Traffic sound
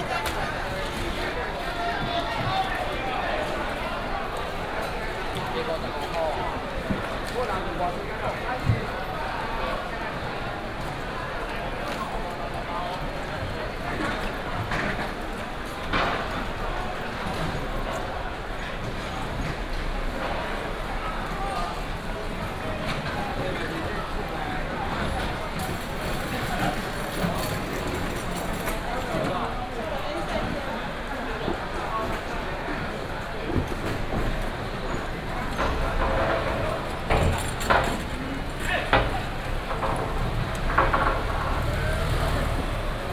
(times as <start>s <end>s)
32.3s 43.1s